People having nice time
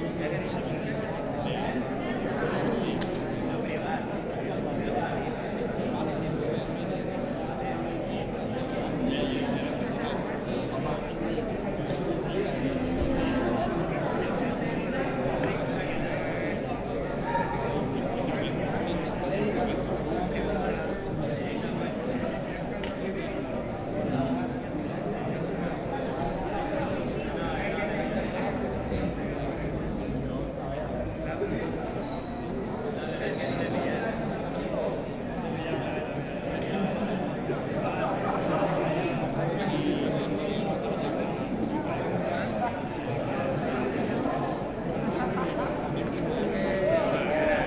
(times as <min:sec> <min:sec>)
0:35.8 0:47.6